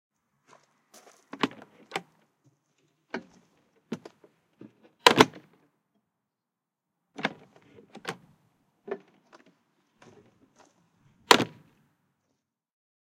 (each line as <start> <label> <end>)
0.4 footsteps 1.8
5.0 door 5.5
11.3 door 11.6